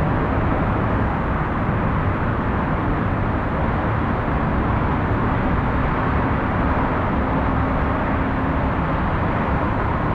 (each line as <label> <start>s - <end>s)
dronelike sound of the city traffic 0.0s - 10.1s